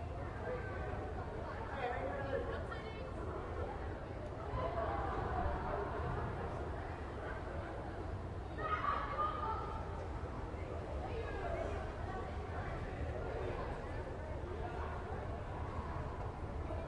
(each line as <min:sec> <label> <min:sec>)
0:00.0 crowd of teenagers 0:16.8